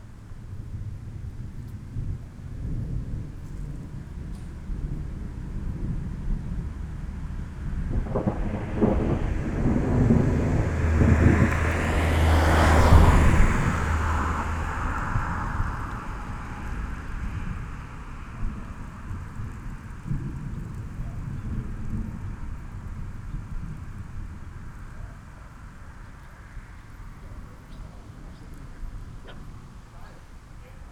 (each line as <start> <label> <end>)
0.4 thunderstorm arrives 30.9